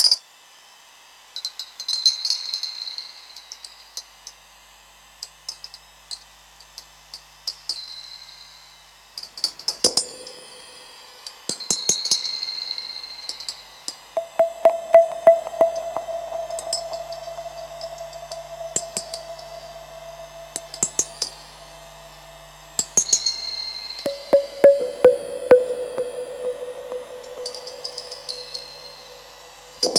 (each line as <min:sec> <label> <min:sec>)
0:14.2 low tones 0:22.4
0:24.1 low tones 0:29.9